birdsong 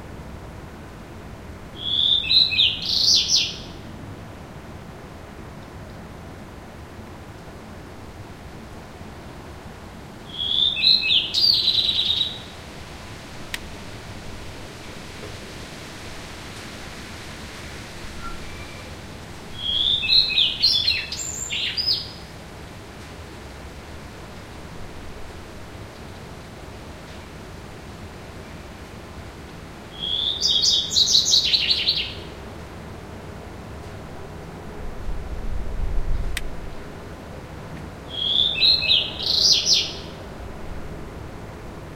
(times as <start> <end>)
1.8 3.8, 10.3 12.5, 19.6 22.3, 30.0 32.3, 38.1 40.2